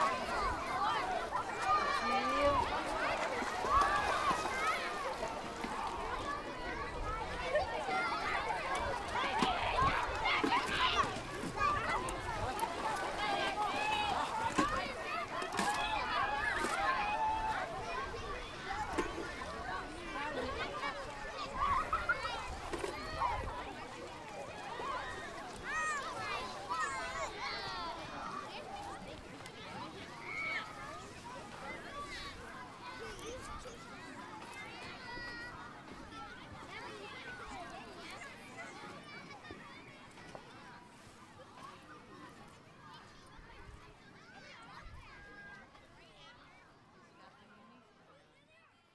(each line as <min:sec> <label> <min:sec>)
0:00.0 splashing around in the shallow water 0:39.0
0:00.0 Kids Playing 0:41.8